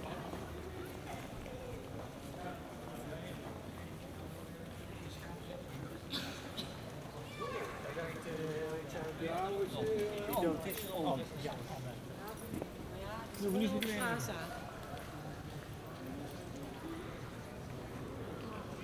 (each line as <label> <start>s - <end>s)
Pedestrians 0.0s - 18.8s